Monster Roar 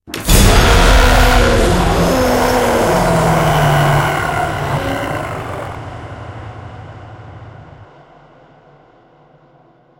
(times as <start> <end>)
0.3 6.5